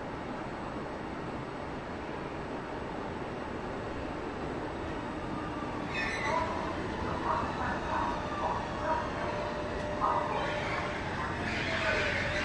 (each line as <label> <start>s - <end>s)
two trains arriving 0.0s - 12.4s
wind 0.0s - 12.4s
Announcements 5.4s - 12.4s
seagulls 5.4s - 12.4s